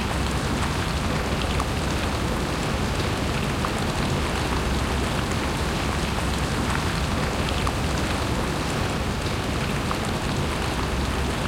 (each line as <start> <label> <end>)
0.0 Heavy rain on the ground, grass, murmuring and squelching 11.4